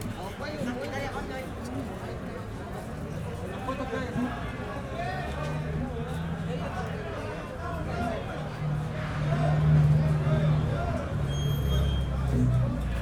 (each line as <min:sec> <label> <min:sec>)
0:00.0 people at the taxi stand 0:13.0
0:07.7 passers-by 0:13.0